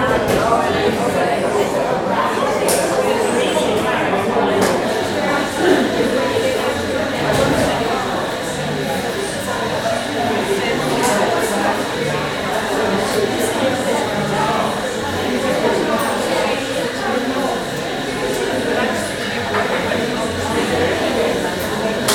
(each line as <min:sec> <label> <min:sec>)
0:00.0 many indistinct conversations 0:22.1
0:02.5 coffee machine 0:22.1